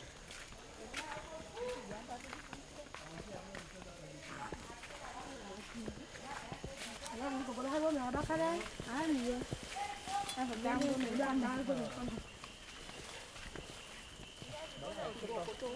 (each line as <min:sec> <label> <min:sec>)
0:00.0 women from Mailobbi walking to their fields 0:15.7